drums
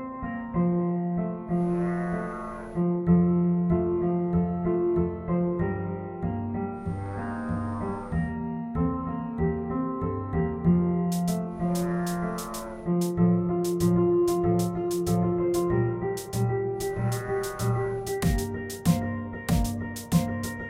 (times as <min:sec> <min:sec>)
0:11.1 0:20.6